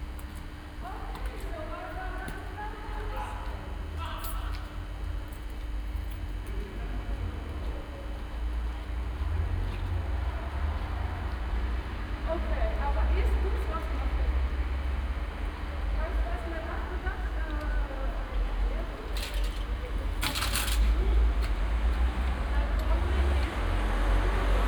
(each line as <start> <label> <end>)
0.8 voices 4.9
12.2 voices 14.6
15.7 voices 24.6